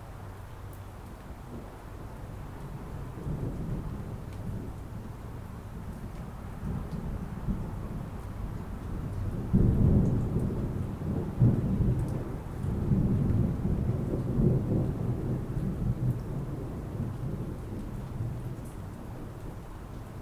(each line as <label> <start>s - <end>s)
rain 0.0s - 20.2s
thunder 9.0s - 19.4s